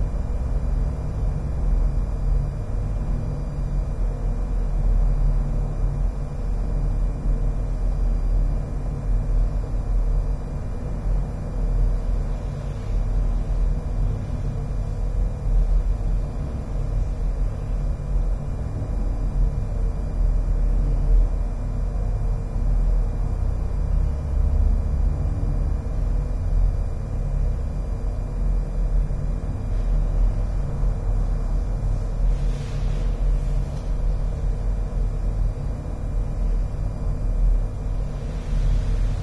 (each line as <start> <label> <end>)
0.0 aircon 39.2